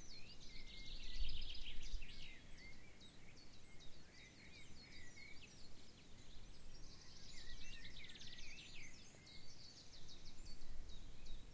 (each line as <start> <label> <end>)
0.0 blackbird song 11.5
0.0 robin song 11.5